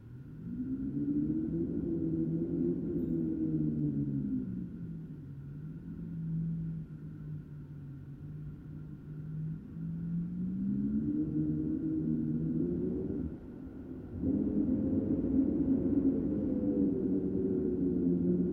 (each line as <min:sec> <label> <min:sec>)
0:00.0 howling polar wind 0:18.5